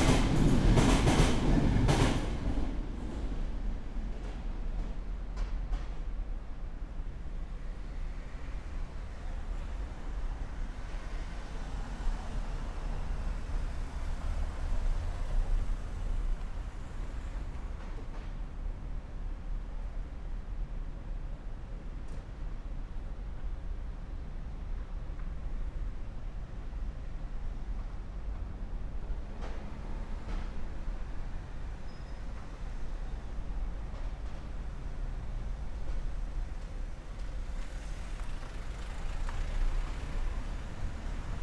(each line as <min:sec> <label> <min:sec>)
0:00.0 Traffic noise 0:41.4
0:00.0 trains passing under metal bridge 0:41.4